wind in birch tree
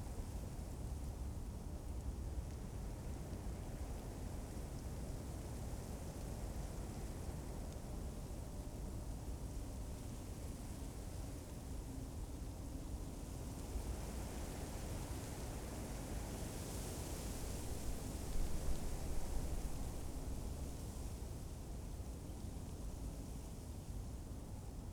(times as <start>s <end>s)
15.3s 24.9s